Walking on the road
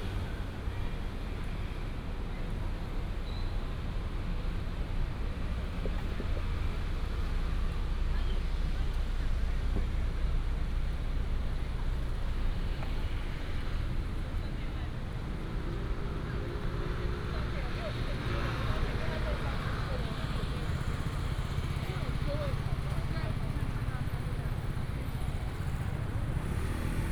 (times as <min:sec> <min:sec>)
0:05.6 0:27.1